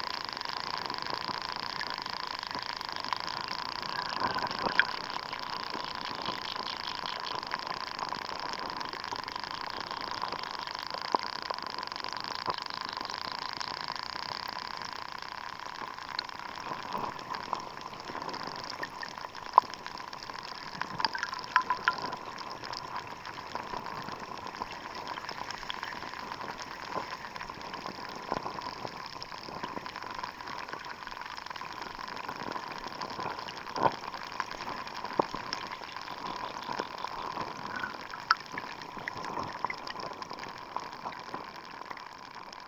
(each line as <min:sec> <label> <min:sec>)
0:20.8 grassy water 0:23.1
0:33.6 grassy water 0:41.0